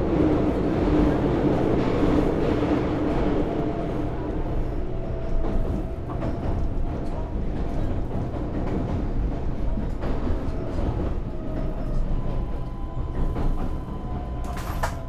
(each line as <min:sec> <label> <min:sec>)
0:00.0 express train 0:15.0